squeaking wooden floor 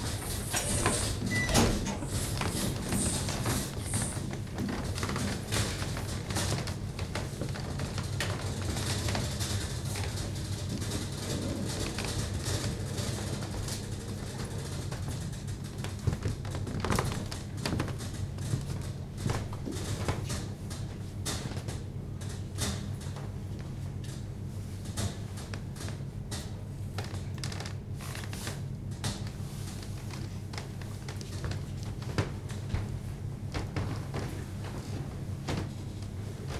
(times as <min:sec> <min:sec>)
0:00.2 0:04.4